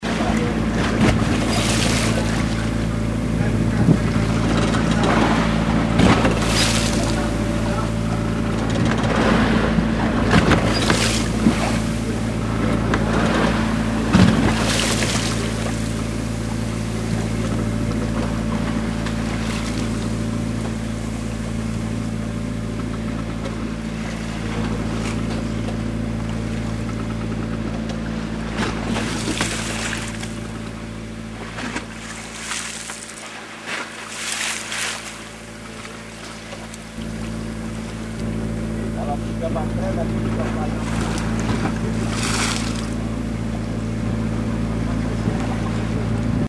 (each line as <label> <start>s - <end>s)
sea hitting the boat 0.0s - 46.4s